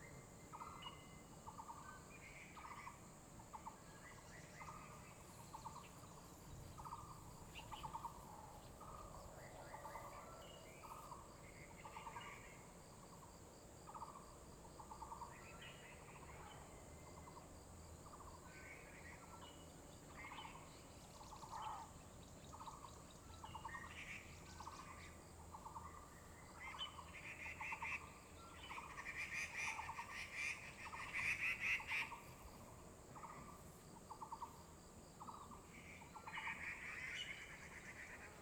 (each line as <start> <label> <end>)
0.0 Many kinds of bird calls 12.8
18.1 Many kinds of bird calls 34.6
35.2 Many kinds of bird calls 38.4